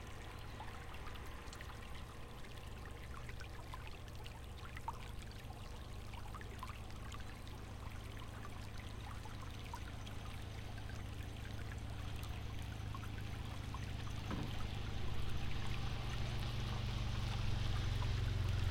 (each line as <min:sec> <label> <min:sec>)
0:00.0 small river 0:18.7